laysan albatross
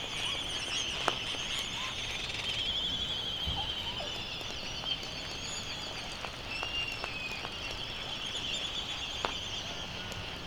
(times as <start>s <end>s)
0.0s 5.1s